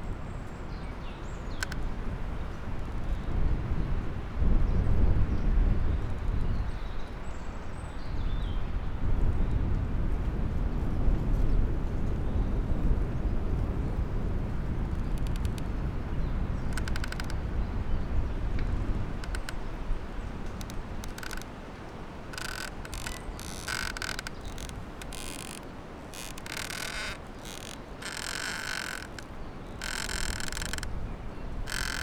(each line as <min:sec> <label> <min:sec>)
0:00.1 strong wind 0:32.0
0:01.4 snapped branch jammed between two trees, creaking 0:01.9
0:14.7 snapped branch jammed between two trees, creaking 0:32.0